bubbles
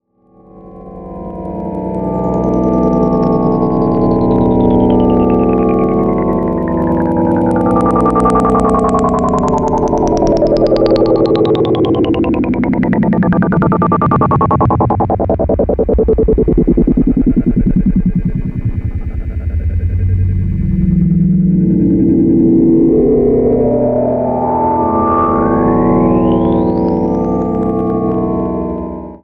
0:05.9 0:17.6

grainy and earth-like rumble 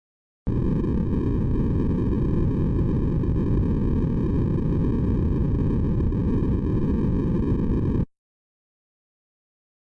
0:00.5 0:08.1

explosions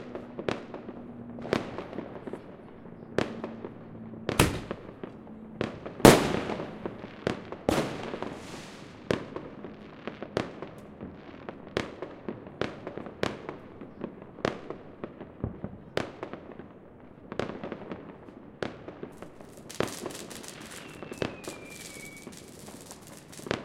0:04.3 0:06.9

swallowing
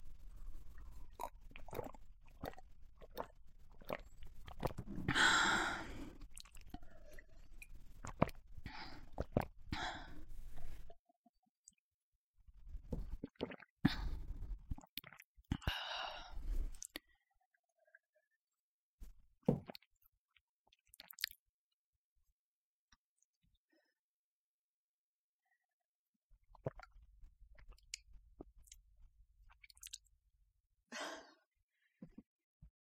0:00.8 0:10.2

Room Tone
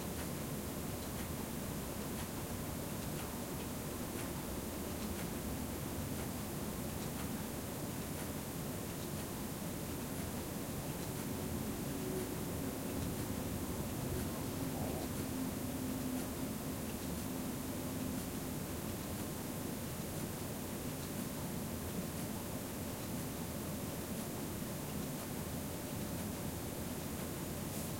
0:09.6 0:21.7

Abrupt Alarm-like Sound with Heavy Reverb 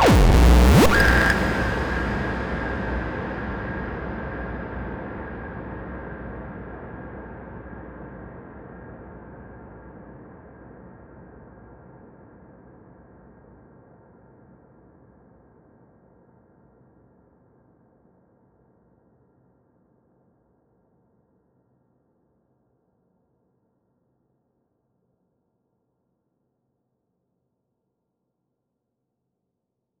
0:00.0 0:03.1

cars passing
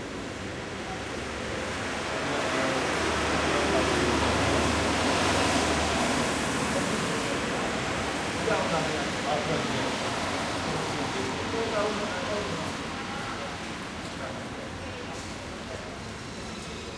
0:00.6 0:13.9

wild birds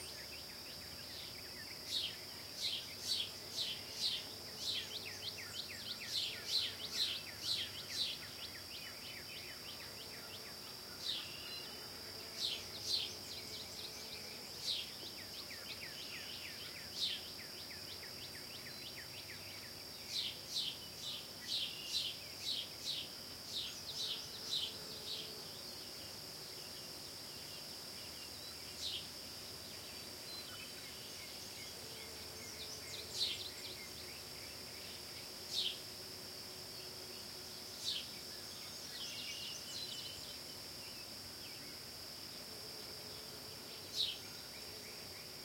0:00.0 0:36.0

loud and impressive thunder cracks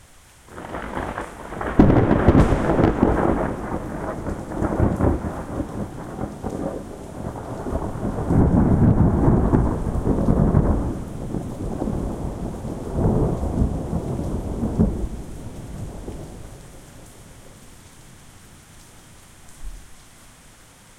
0:00.5 0:16.7

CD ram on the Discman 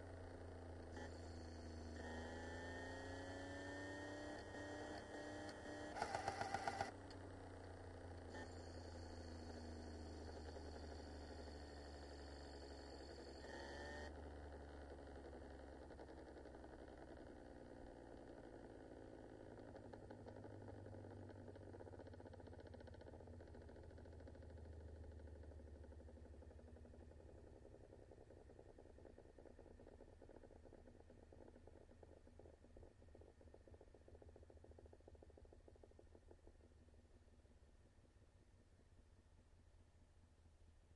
0:05.9 0:07.2

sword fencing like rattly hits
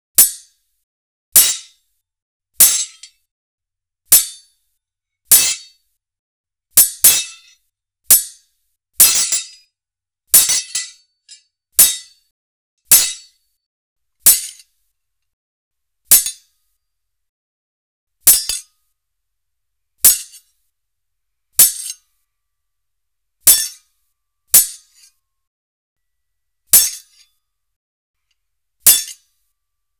0:02.6 0:03.1, 0:09.0 0:09.6, 0:10.4 0:11.0, 0:11.8 0:12.1, 0:12.9 0:13.3, 0:26.8 0:27.2, 0:28.9 0:29.2

